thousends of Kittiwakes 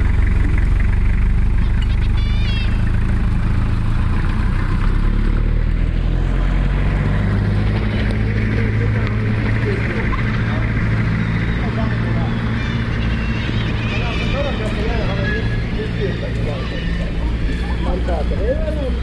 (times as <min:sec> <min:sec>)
0:01.6 0:03.0, 0:09.5 0:19.0